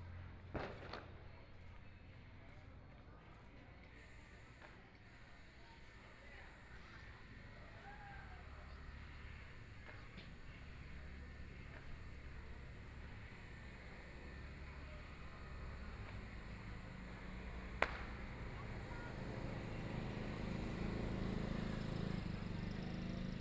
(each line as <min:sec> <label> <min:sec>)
0:00.4 firecrackers 0:01.8
0:08.9 firecrackers 0:20.4
0:11.3 Motorcycle sound 0:23.4